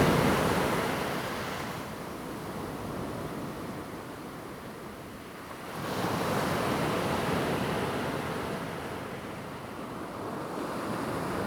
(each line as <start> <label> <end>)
0.0 waves 1.9